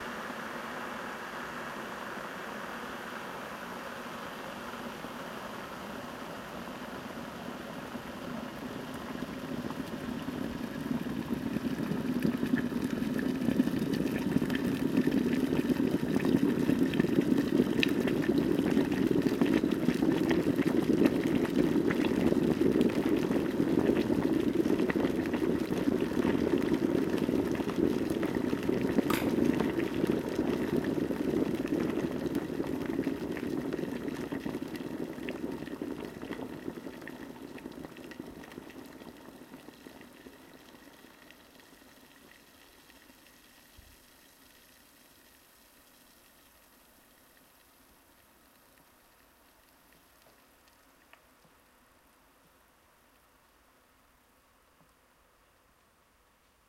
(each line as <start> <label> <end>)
0.0 Boiling water in a water boiler 55.0
29.1 automatic switch-off 29.6